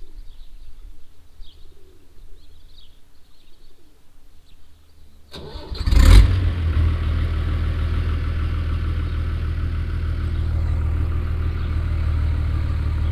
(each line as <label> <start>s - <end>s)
tractor passing by 5.3s - 13.1s